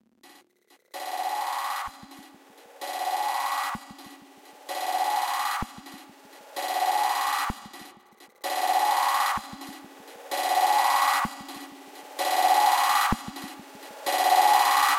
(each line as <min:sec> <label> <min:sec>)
0:08.4 multi purpose alarm sound 0:09.5
0:14.0 multi purpose alarm sound 0:14.9